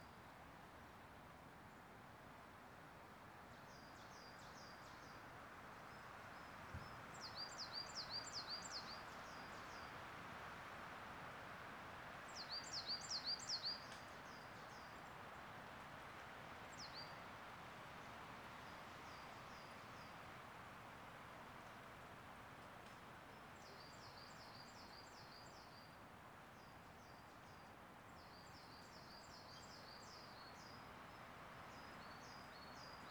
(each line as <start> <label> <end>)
12.3 Bird song 15.2
23.3 Bird song 26.0
26.6 Bird song 33.1